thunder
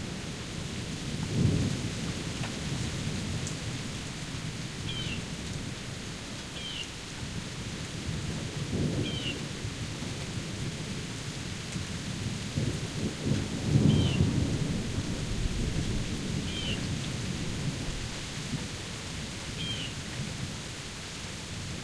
12.2 18.0

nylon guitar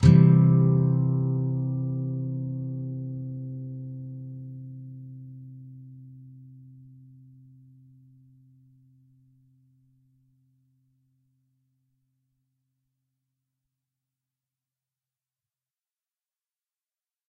0.0 8.8

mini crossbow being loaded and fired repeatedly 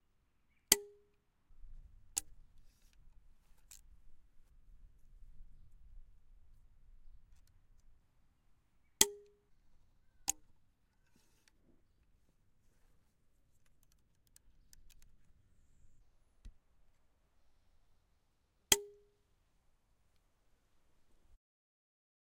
13.6 15.2

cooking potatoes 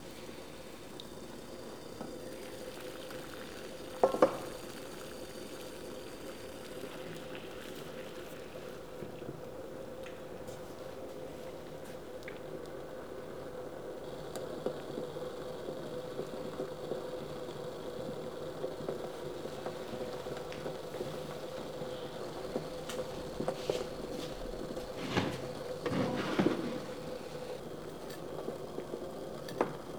12.7 29.9

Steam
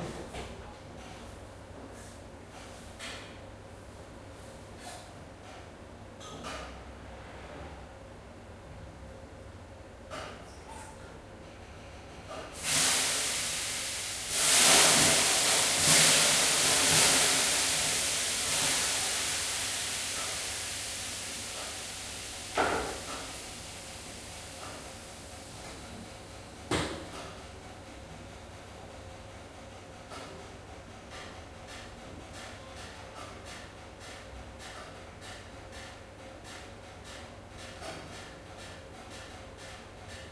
12.5 27.3

